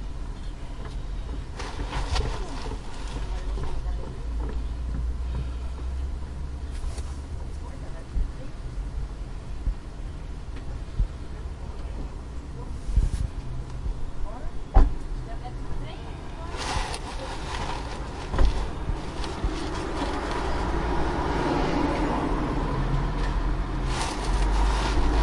noise from the inside of the car 0:16.4 - 0:20.8
car passing by 0:19.7 - 0:25.2

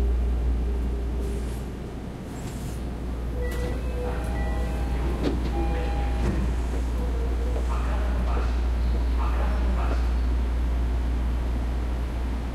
moving trains 0:00.0 - 0:12.5
announcement 0:03.3 - 0:10.1

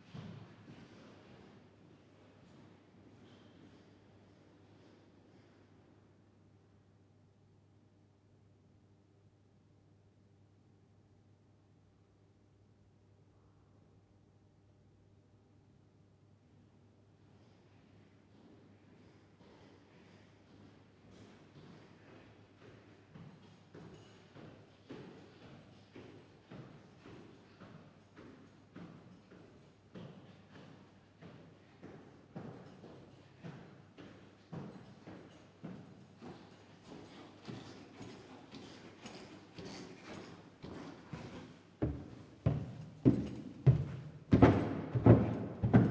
creaky old wooden stairs 0:34.6 - 0:45.9

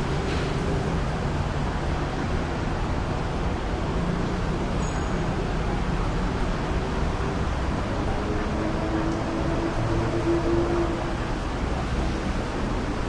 traffic heavy 0:00.0 - 0:13.0

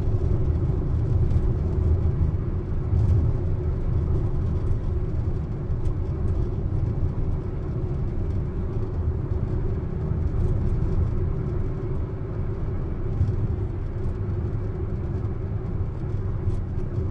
auto rattly bumpy road 0:00.0 - 0:17.1

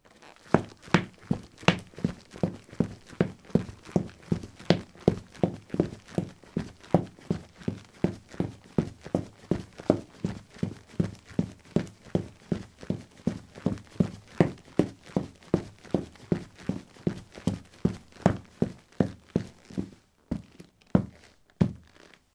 footsteps 0:00.1 - 0:22.2

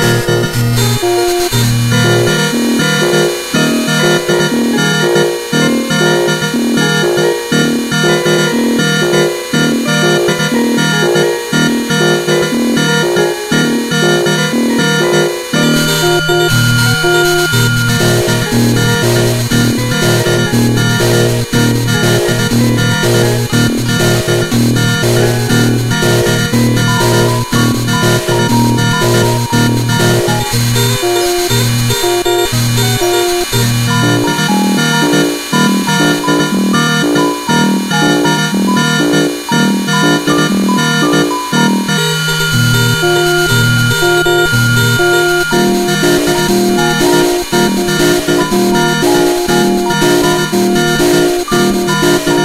circuit bent Yamaha PSR-12 keyboard 0:00.0 - 0:52.4

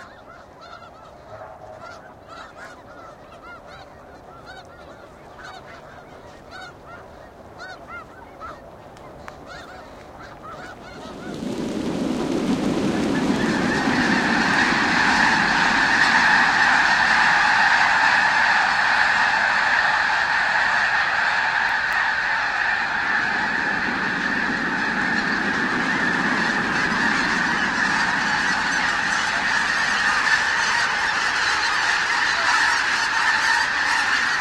geese launching 0:00.0 - 0:34.4

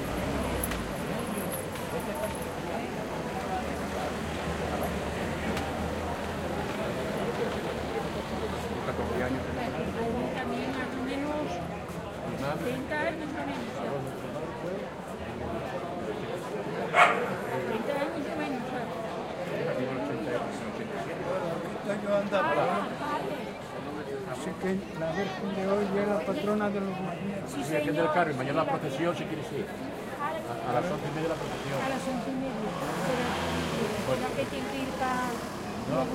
People talking vividly 0:01.9 - 0:36.1
car passes by 0:30.9 - 0:36.1

